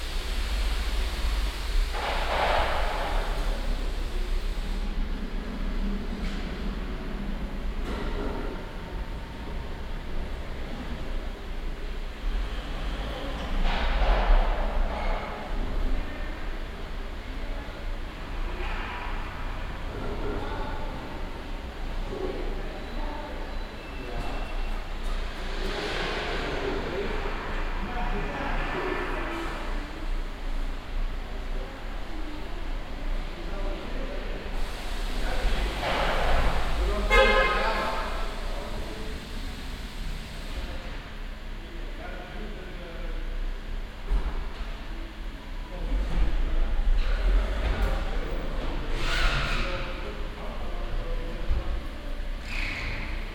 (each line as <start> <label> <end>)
0.0 long row of cars waiting for the inspection 53.3